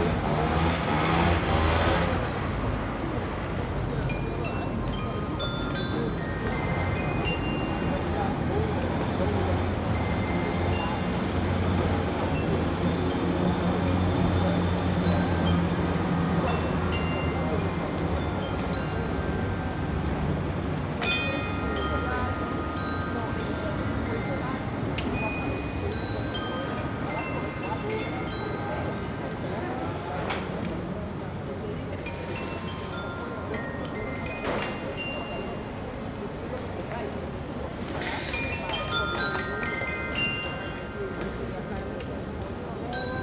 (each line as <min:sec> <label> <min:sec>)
0:00.0 people 0:43.2
0:00.0 traffic 0:43.2
0:04.1 Kids playing on the Dance Chimes 0:08.1
0:13.3 Kids playing on the Dance Chimes 0:29.2
0:31.9 Kids playing on the Dance Chimes 0:35.9
0:38.2 Kids playing on the Dance Chimes 0:41.9